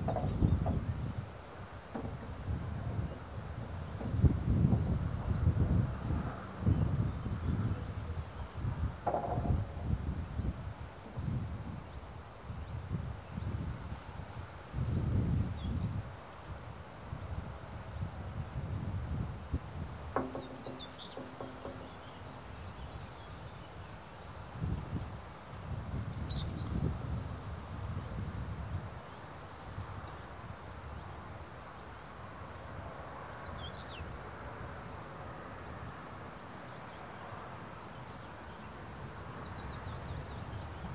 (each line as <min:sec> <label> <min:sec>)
0:09.0 slabs are loose, knocking about in their fastenings 0:09.9
0:20.1 slabs are loose, knocking about in their fastenings 0:22.6